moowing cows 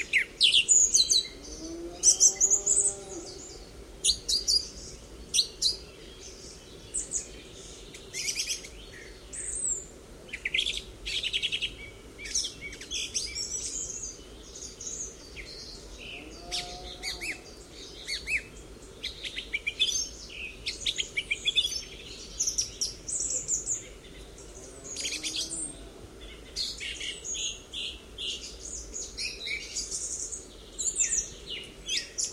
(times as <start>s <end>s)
1.4s 3.5s, 16.1s 17.4s, 24.6s 26.1s